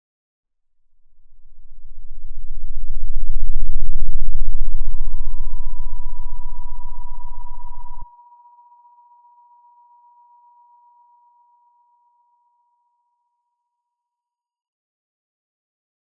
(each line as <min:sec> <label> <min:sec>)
0:00.7 Bass 0:08.1